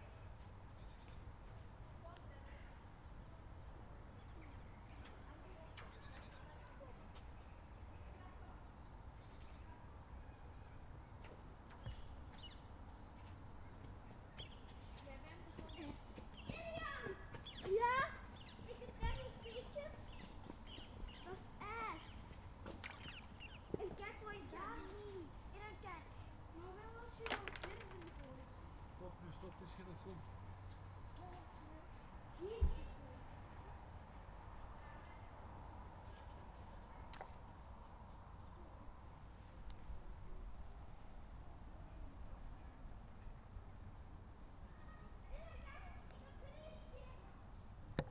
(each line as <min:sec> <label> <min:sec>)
0:27.1 Children throwing rocks on the ice 0:28.5